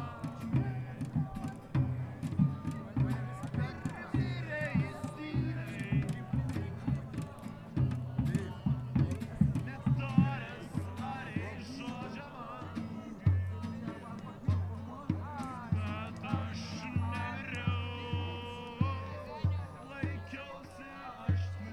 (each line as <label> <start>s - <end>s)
drumming 0.0s - 20.4s
singing 0.0s - 21.7s
speaking 0.0s - 21.7s